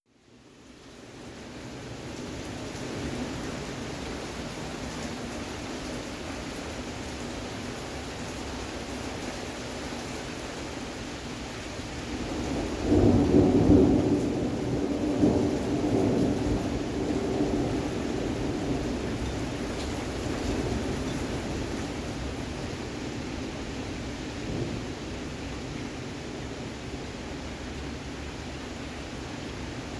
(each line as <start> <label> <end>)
0.2 heavy rain 29.9